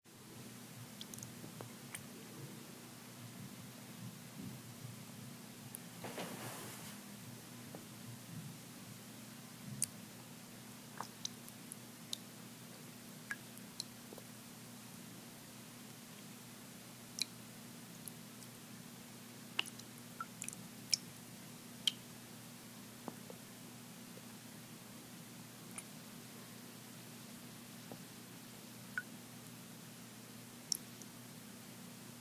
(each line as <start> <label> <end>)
0.1 Intermittent drips in still water 6.0
7.0 Intermittent drips in still water 32.2